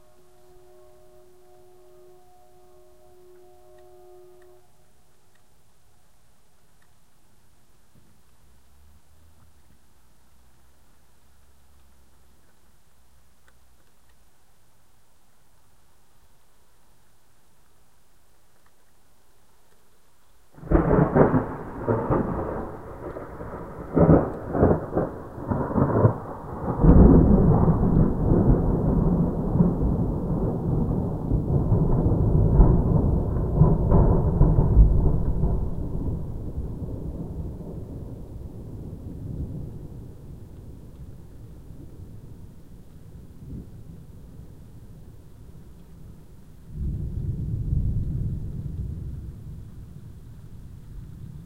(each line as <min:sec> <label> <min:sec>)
0:00.0 rain 0:51.4
0:20.6 TREMENDOUSLY huge lightning strikes 0:45.5
0:46.7 TREMENDOUSLY huge lightning strikes 0:51.4